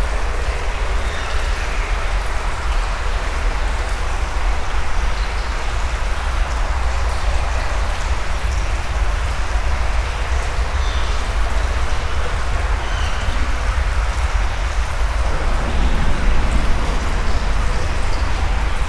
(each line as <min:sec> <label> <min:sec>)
0:00.0 very dirty underground river 0:18.8